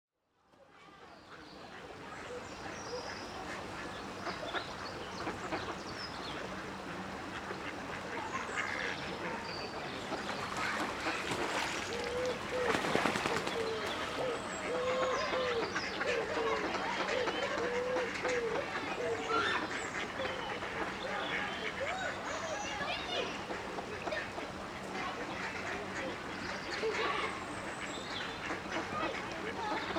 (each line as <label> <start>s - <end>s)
ducks 1.3s - 29.9s
geese 1.6s - 29.9s
children 8.1s - 29.9s